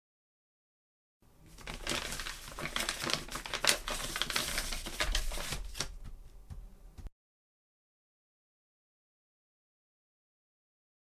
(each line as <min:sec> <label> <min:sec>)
0:01.5 Papers rustling 0:06.6